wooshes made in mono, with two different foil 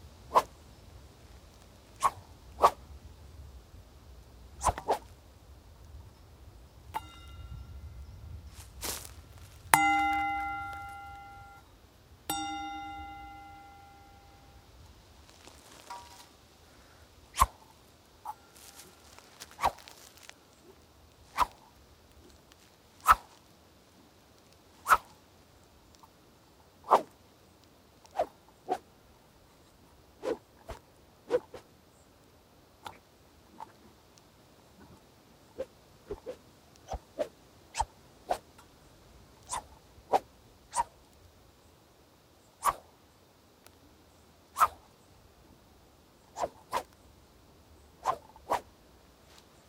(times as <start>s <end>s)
17.3s 23.4s